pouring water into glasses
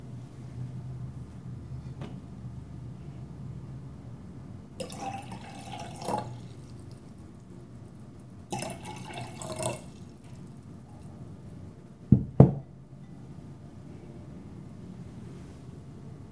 4.8s 7.2s, 8.5s 10.6s

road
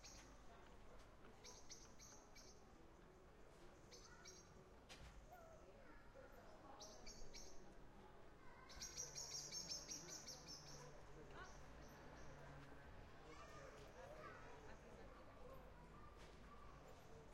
8.9s 17.3s

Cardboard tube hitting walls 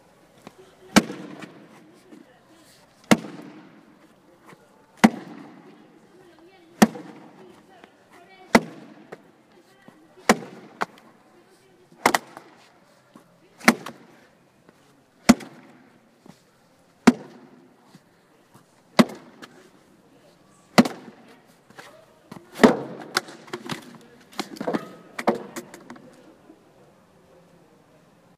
1.0s 1.7s, 3.0s 3.8s, 5.0s 5.6s, 6.8s 7.4s, 8.5s 9.2s, 10.2s 11.0s, 12.0s 12.5s, 13.6s 14.1s, 15.3s 15.8s, 17.0s 17.5s, 19.0s 19.4s, 20.8s 21.2s, 22.6s 25.6s

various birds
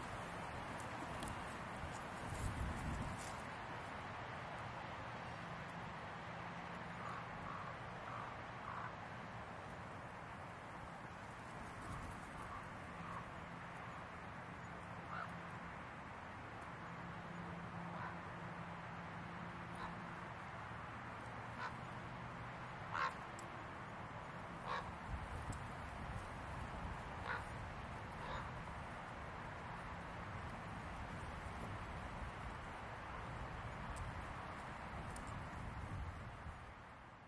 22.8s 26.3s, 27.0s 28.7s

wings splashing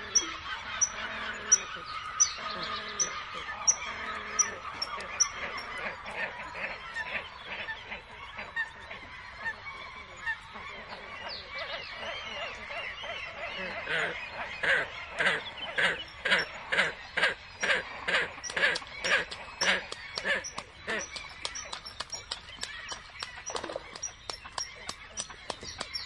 13.6s 26.0s

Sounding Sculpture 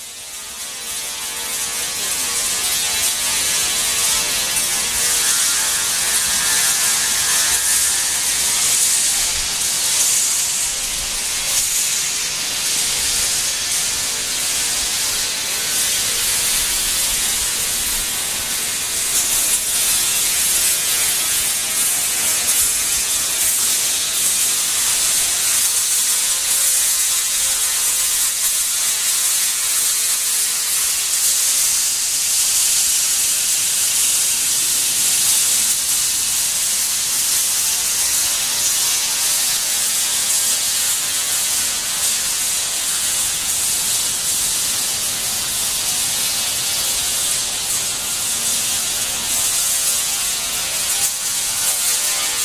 2.8s 12.7s

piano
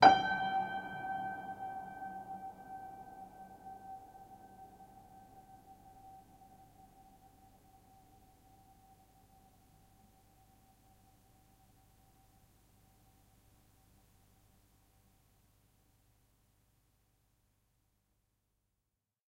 0.0s 12.4s

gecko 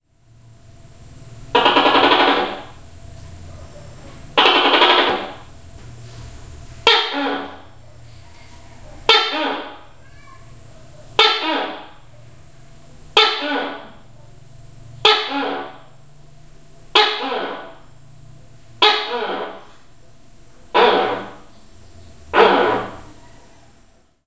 1.5s 2.8s, 3.4s 6.1s, 6.8s 10.5s, 11.2s 12.1s, 13.1s 14.1s, 15.0s 15.9s, 16.9s 18.0s, 18.8s 19.8s, 20.7s 23.8s

